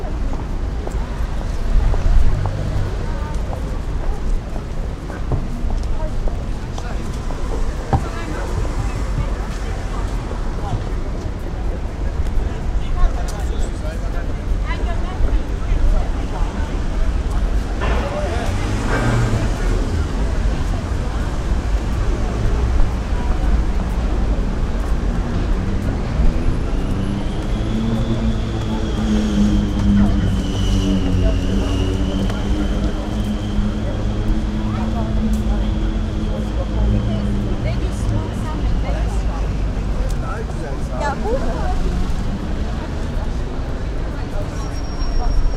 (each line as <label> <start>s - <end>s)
people 0.0s - 45.5s
traffic 0.0s - 45.5s
walking down the street 0.0s - 45.5s
motorbike 15.9s - 45.5s